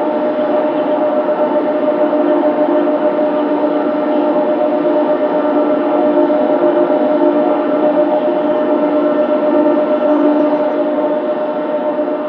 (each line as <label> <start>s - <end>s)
WIND POWER TURBINE 0.0s - 12.2s